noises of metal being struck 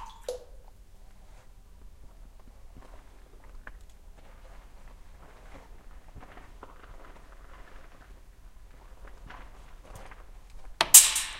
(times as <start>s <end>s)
10.8s 11.3s